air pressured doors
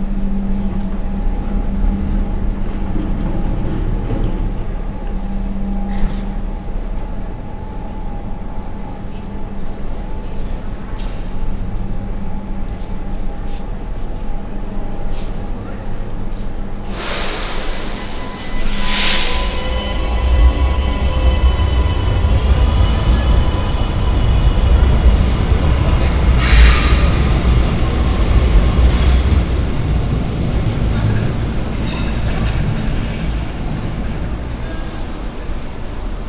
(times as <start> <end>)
16.8 35.8